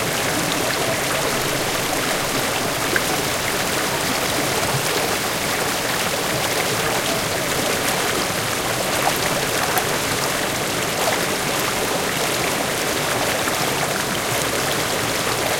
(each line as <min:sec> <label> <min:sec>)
0:00.0 Waterfall 0:15.5